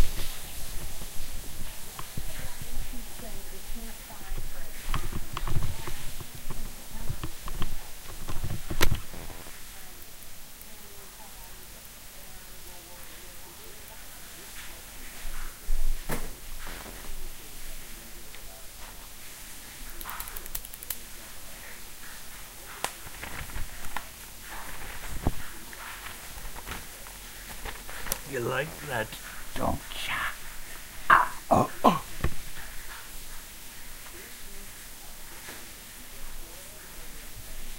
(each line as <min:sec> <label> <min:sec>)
0:28.2 words 0:30.4
0:31.0 words 0:32.2
0:31.1 grunting 0:32.1